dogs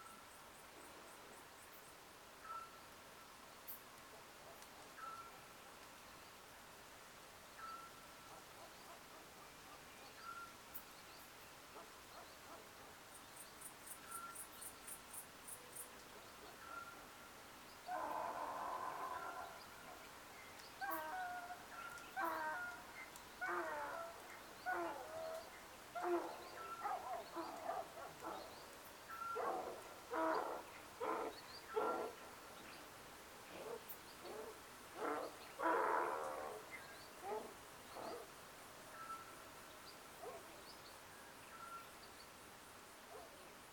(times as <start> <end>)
26.0 28.5